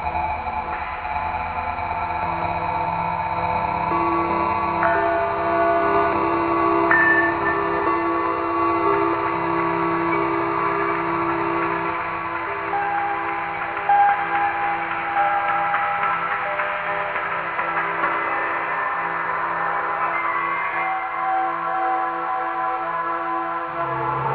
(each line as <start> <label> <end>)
3.9 Bell Train 22.8